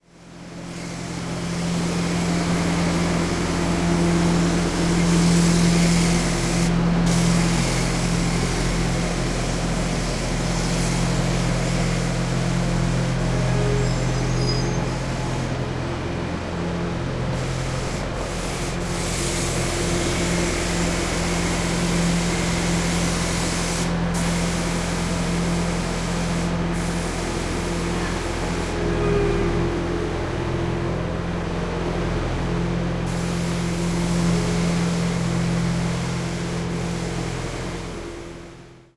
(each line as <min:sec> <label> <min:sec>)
0:00.0 motor and generator sound 0:38.9
0:00.1 Cleaning the street with pressured water 0:38.8